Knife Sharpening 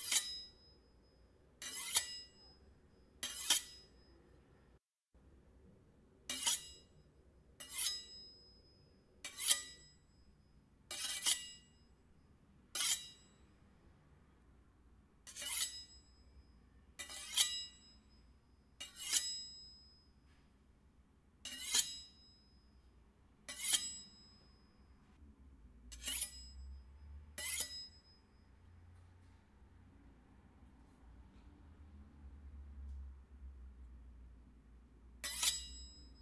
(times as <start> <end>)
0.0 0.5, 1.6 2.6, 3.2 4.0, 6.3 6.9, 7.6 8.5, 9.2 9.9, 10.9 11.8, 12.7 13.3, 15.3 16.0, 17.0 18.0, 18.8 19.7, 21.4 22.2, 23.5 24.3, 25.9 26.8, 27.4 28.2, 35.2 36.2